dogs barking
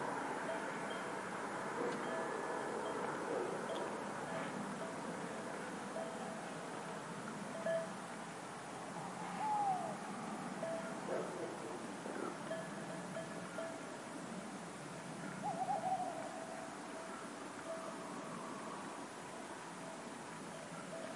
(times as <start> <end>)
11.0 11.8